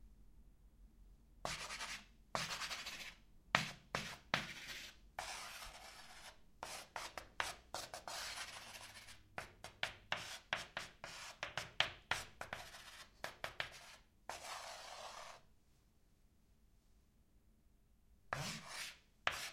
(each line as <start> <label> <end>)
1.4 Writing with Chalk 15.5
18.3 Writing with Chalk 19.5